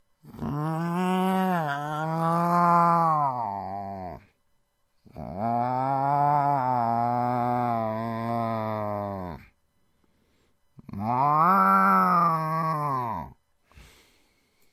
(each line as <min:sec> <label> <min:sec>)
0:00.2 immitate an angry cat or simliar feline 0:04.4
0:05.0 immitate an angry cat or simliar feline 0:09.6
0:10.8 immitate an angry cat or simliar feline 0:13.4